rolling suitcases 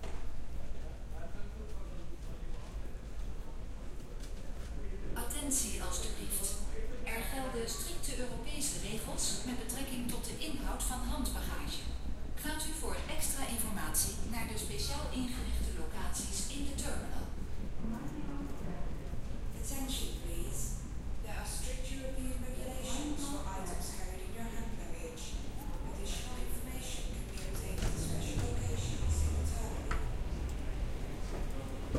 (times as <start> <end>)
25.4 31.9